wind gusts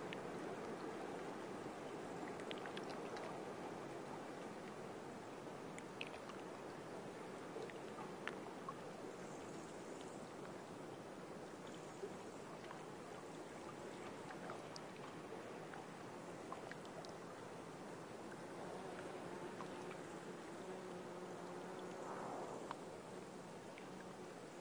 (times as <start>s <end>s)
20.3s 24.3s